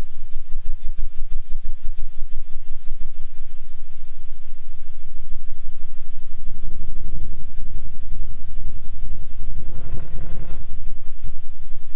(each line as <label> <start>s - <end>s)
Flange Feedback 9.6s - 11.2s